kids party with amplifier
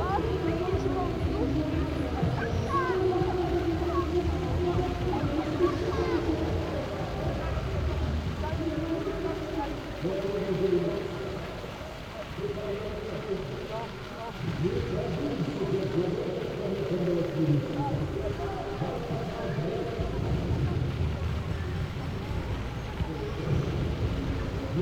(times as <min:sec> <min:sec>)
0:00.0 0:09.0